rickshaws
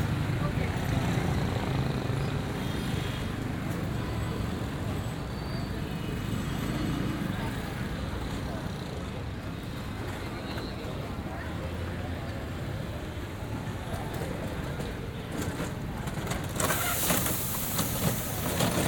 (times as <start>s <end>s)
15.4s 18.8s